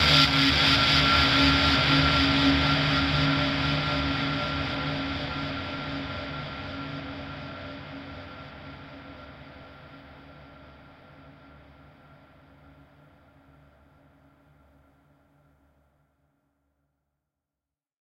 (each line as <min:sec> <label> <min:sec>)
0:00.0 Bass 0:07.4